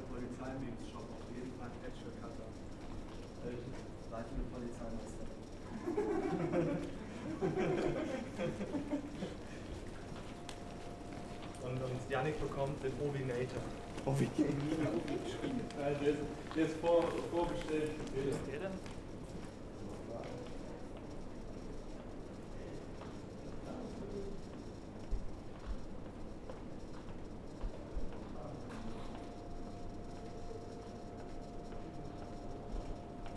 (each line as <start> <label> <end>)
10.1 Corona Anouncement 18.5